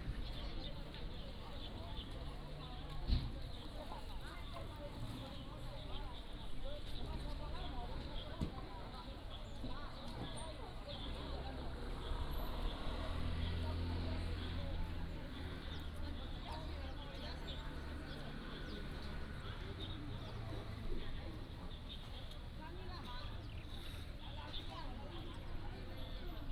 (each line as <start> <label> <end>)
11.1 Traffic Sound 22.6